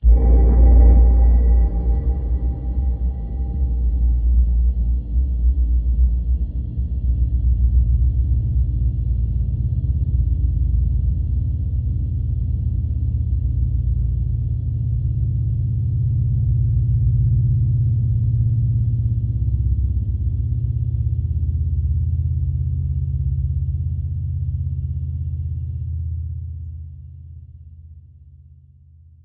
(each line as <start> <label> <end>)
0.0 synth 6.0